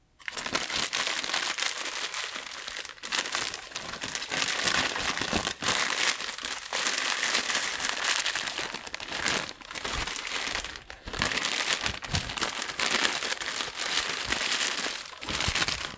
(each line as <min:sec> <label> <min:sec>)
0:00.2 plastic bag 0:15.9